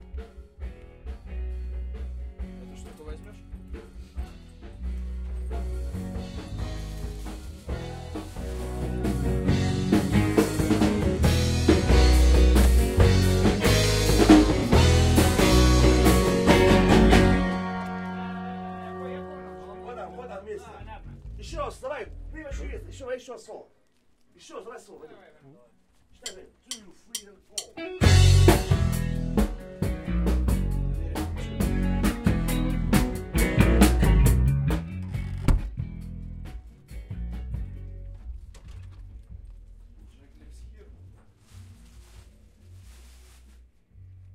bass guitar 0:00.0 - 0:23.0
guitar 0:00.0 - 0:23.0
drum 0:05.4 - 0:17.5
drum 0:26.3 - 0:36.1
guitar 0:27.6 - 0:40.0
bass guitar 0:27.7 - 0:40.3
Open first door 0:34.9 - 0:35.9
Open first door 0:38.0 - 0:39.9

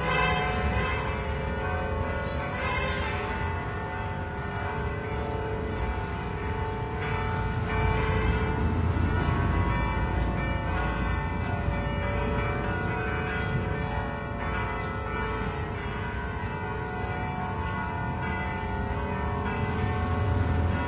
horns 0:00.0 - 0:01.4
cars in the street 0:00.0 - 0:20.8
church-bells 0:00.0 - 0:20.8

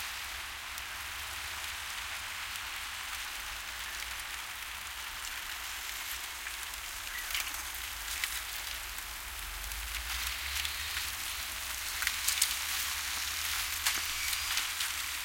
Ice, thin frostworks clinking on a rocky shore 0:10.4 - 0:15.2

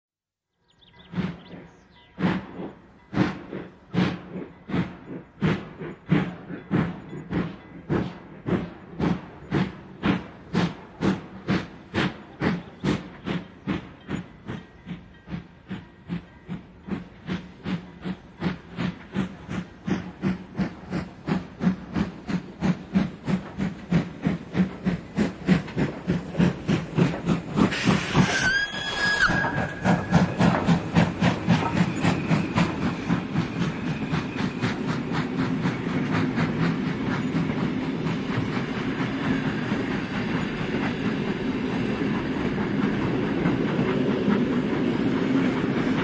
steam locomotive, pulling away puffing 0:00.7 - 0:46.0
whistle 0:28.0 - 0:30.5

